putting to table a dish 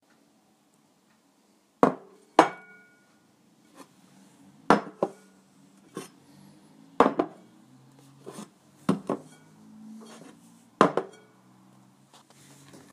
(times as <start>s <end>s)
8.3s 11.3s